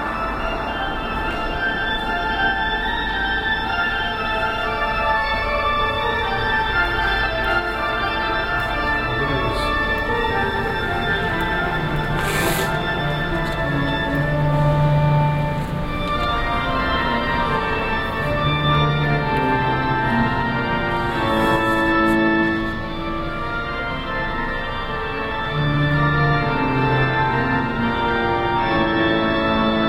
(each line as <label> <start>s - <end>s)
Sound installation 8.5s - 14.9s